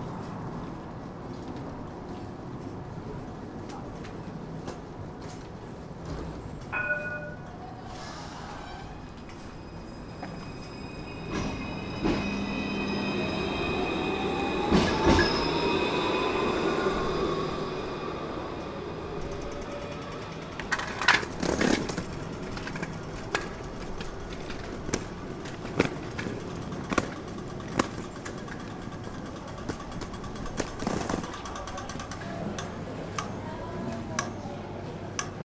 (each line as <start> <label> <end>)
0.0 Exit train 35.4